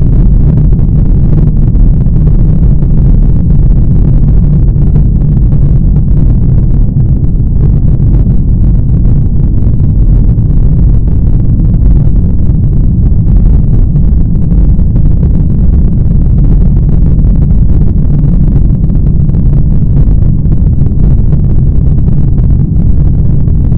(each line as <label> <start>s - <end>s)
Heavy Rumble of a rocket thrust 0.0s - 23.7s